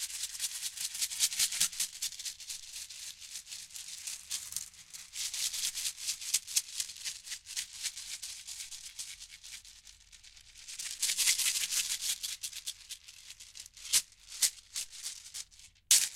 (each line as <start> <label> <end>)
0.0 maracas 16.1